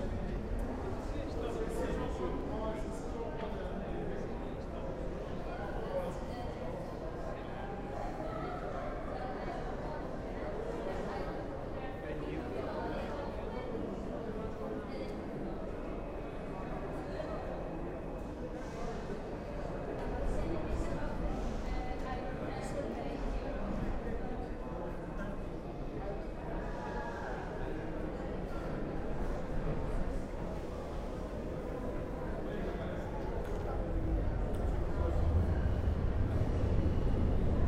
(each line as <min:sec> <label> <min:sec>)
0:00.0 sounds of people in the space 0:37.6
0:30.3 trains arriving on more distant platforms 0:37.6
0:31.2 Metro train approaching 0:37.6